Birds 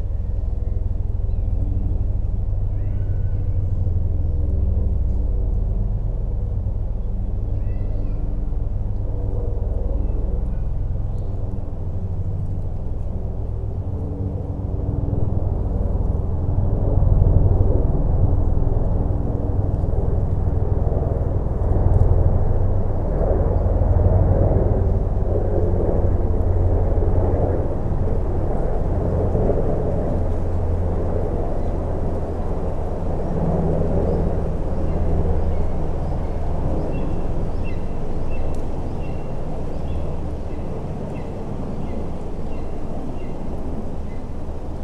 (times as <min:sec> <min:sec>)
0:34.0 0:44.8